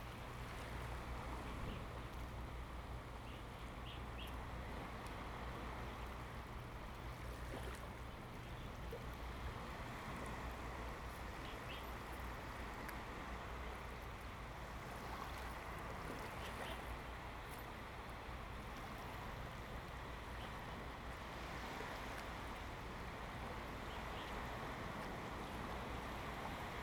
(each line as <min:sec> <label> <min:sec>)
0:00.0 Waves and tides 0:26.8